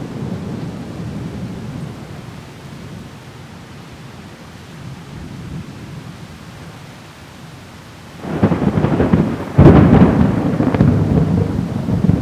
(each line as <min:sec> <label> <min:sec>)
0:00.0 rain 0:12.2
0:08.2 thunder 0:12.2